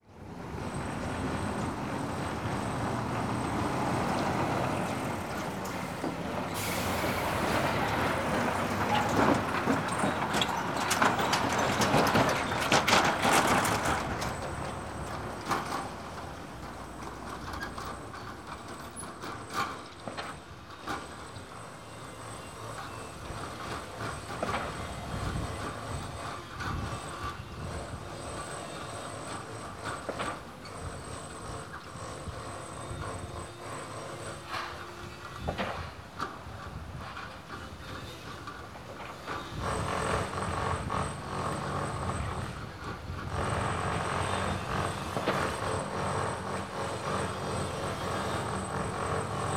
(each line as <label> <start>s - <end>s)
construction sounds 0.0s - 49.5s
truck passing just by the mics 0.4s - 18.0s